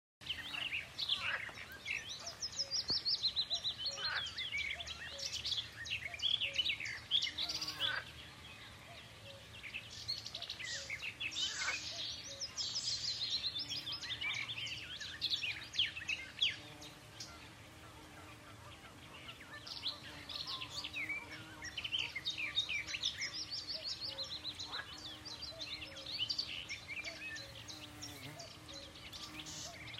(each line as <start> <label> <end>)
0.2 birds 29.9